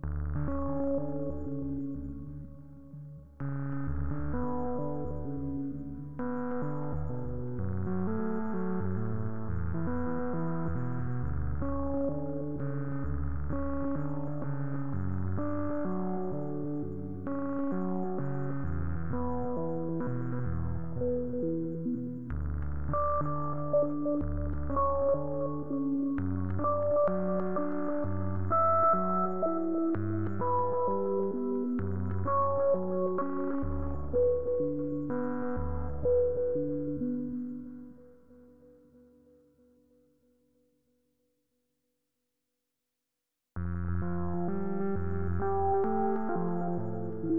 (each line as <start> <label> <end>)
0.4 synth 38.8
43.8 synth 47.3